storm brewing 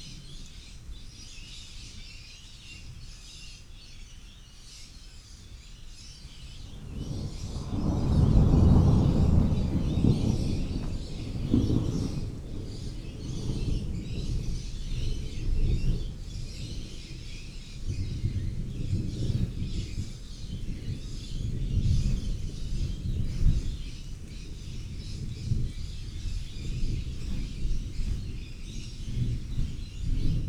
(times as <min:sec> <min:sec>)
0:06.3 0:30.4